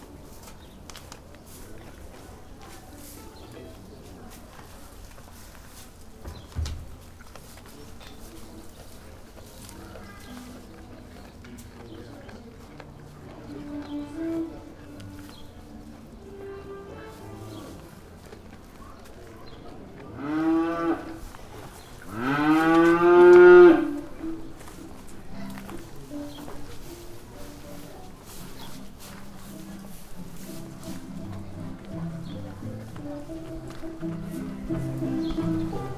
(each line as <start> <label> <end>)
0.0 visitors passing by talking 35.9
0.0 moving on hay 35.9
24.2 Music by a mobile 35.9
24.3 acoustic music duo 35.9